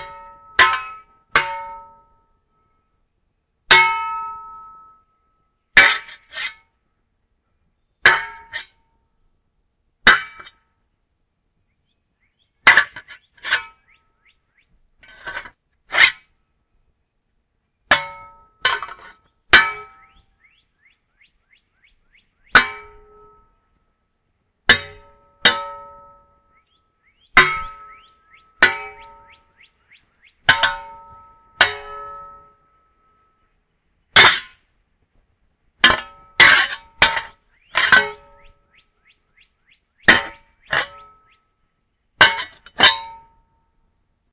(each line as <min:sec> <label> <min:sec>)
0:00.0 clangs, bangs, and hits of shovels 0:02.2
0:03.7 clangs, bangs, and hits of shovels 0:05.0
0:05.8 clangs, bangs, and hits of shovels 0:06.7
0:08.0 clangs, bangs, and hits of shovels 0:08.8
0:10.0 clangs, bangs, and hits of shovels 0:10.6
0:12.6 clangs, bangs, and hits of shovels 0:13.8
0:15.0 clangs, bangs, and hits of shovels 0:16.3
0:17.9 clangs, bangs, and hits of shovels 0:20.0
0:22.5 clangs, bangs, and hits of shovels 0:23.4
0:24.7 clangs, bangs, and hits of shovels 0:26.4
0:27.4 clangs, bangs, and hits of shovels 0:27.9
0:28.6 clangs, bangs, and hits of shovels 0:29.3
0:30.4 clangs, bangs, and hits of shovels 0:32.7
0:34.1 clangs, bangs, and hits of shovels 0:34.6
0:35.8 clangs, bangs, and hits of shovels 0:38.4
0:40.1 clangs, bangs, and hits of shovels 0:41.2
0:42.2 clangs, bangs, and hits of shovels 0:43.4